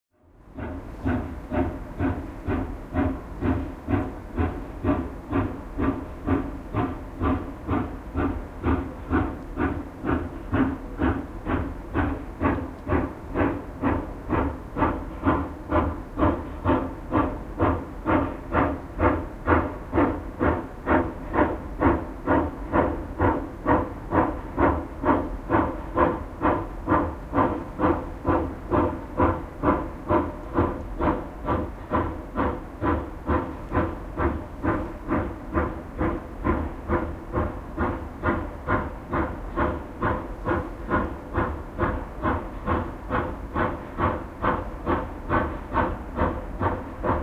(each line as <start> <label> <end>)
0.1 Steam locomotive running at a distance, puffing 47.2